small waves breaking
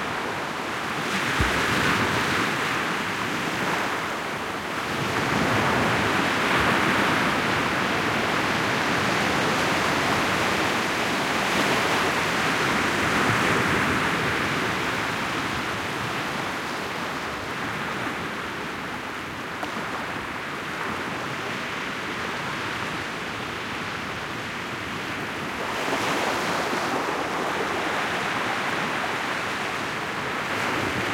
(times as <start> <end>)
8.1 31.1